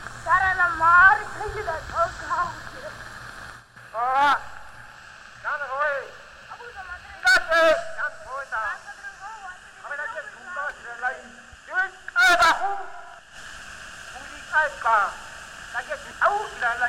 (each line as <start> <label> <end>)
0.0 Echos 16.8